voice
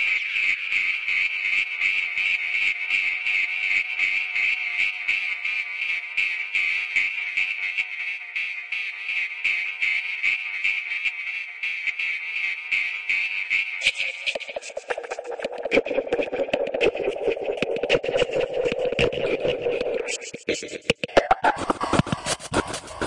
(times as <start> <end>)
19.0 23.0